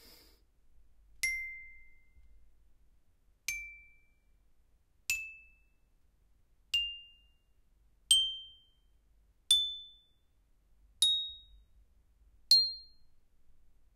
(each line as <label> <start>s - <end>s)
Playing a toy xylophone 9.5s - 10.1s